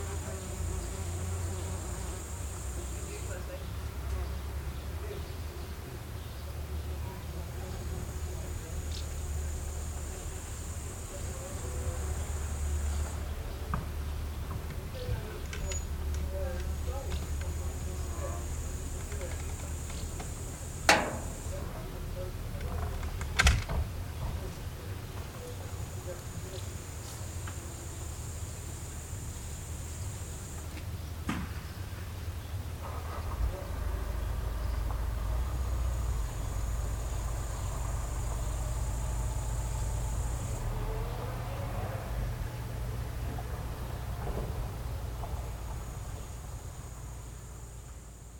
birds 0.0 - 23.2
voices 0.0 - 31.0
bushcrickets 0.0 - 48.3
tin roof snaps 20.9 - 21.5
door slams 20.9 - 21.6
birds 24.0 - 48.0
voices 32.2 - 48.1

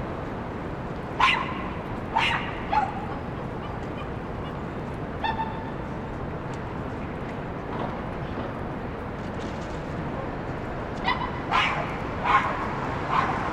different vehicles (cars, buses, motorcycles, bikes, etc) 0.0 - 13.5
dog barking at traffic 1.1 - 4.6
dog barking at traffic 5.2 - 5.8
dog barking at traffic 11.0 - 13.5

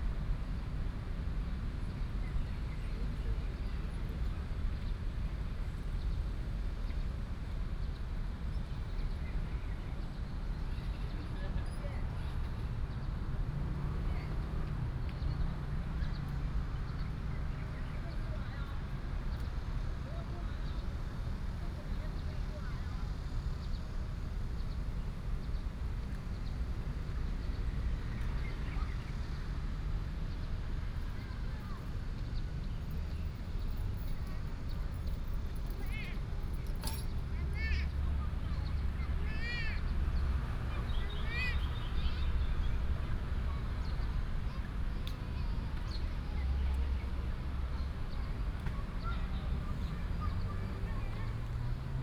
traffic sound 6.2 - 52.0
birds sound 37.1 - 44.8

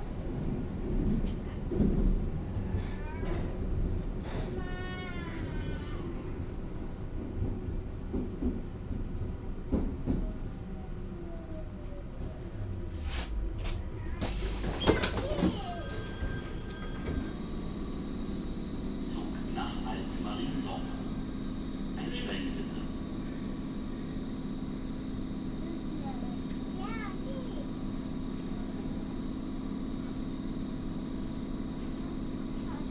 ride with Berlin tube 0.0 - 32.9

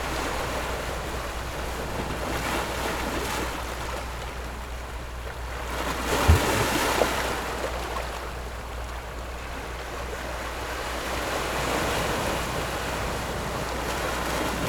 boats on the distant sea 0.0 - 14.6
Rocks and waves 5.6 - 8.1
Rocks and waves 10.0 - 14.6

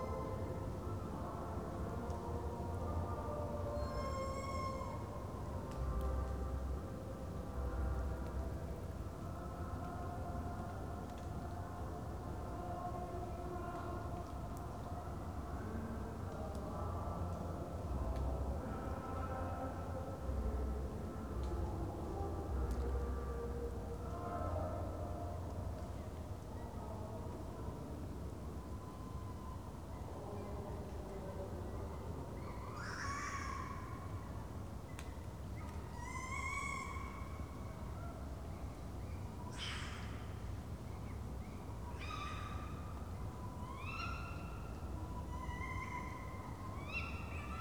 Tawny owls calling 32.7 - 33.9
Tawny owls calling 36.0 - 37.4

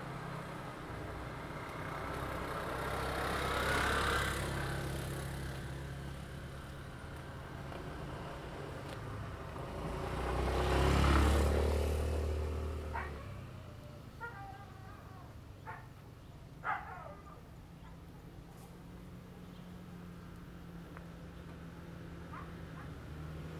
Traffic sound 0.0 - 23.5

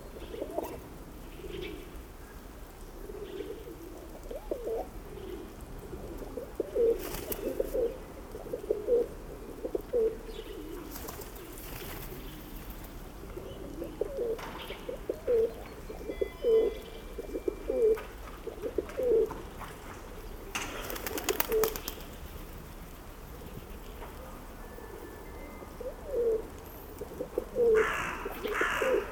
Birds 0.0 - 29.1

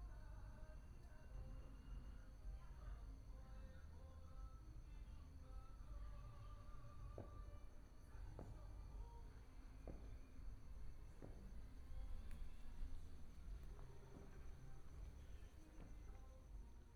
fireworks 6.9 - 16.4
Firecrackers 7.0 - 16.2

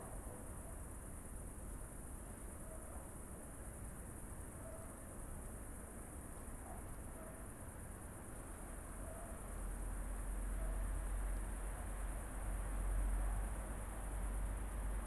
crickets 0.0 - 15.0
dogs 2.6 - 3.2
dogs 4.6 - 5.0
dogs 6.6 - 7.6
dogs 9.0 - 9.6
dogs 10.5 - 10.9

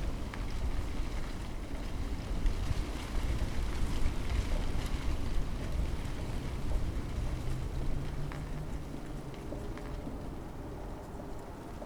ivy leaves fluttering in the wind 0.0 - 11.8

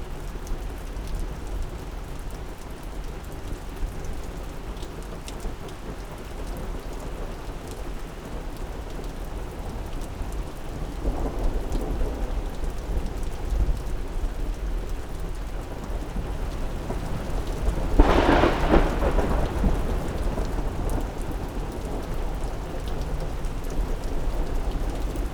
Heavy Rain 0.0 - 25.3
Thunderstorm 10.8 - 25.3

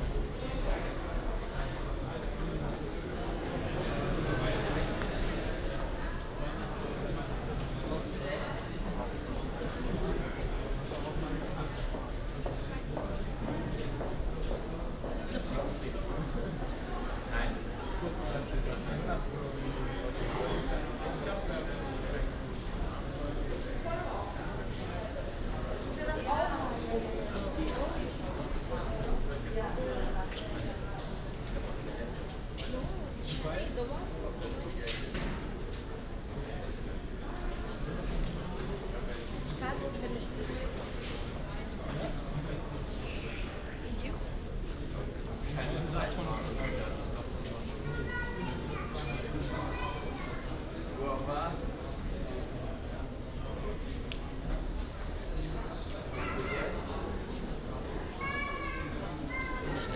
U-Bahn trip 0.0 - 59.9

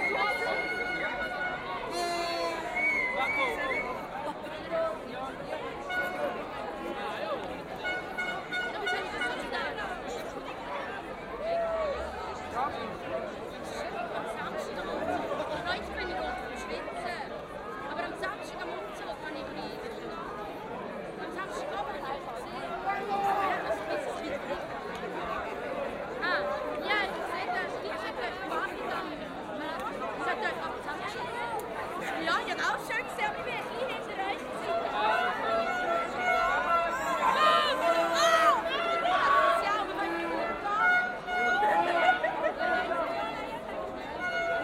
Signalhorns 7.8 - 9.6

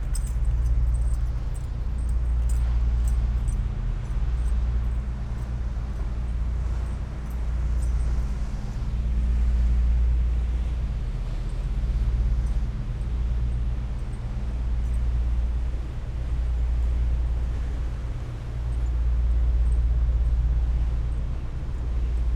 deep drones by the freighter ships 0.0 - 22.3

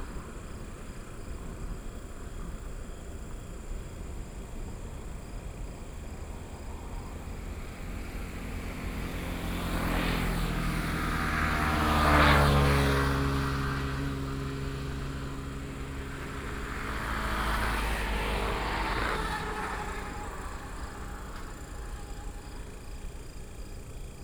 Insects sound 0.0 - 24.2
Traffic sound 0.0 - 24.2

